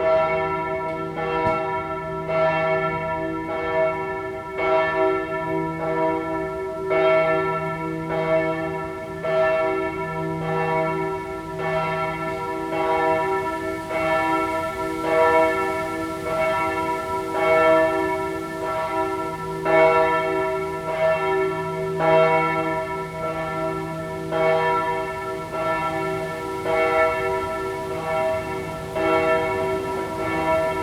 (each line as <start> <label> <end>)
0.0 bells of the church ringing 30.8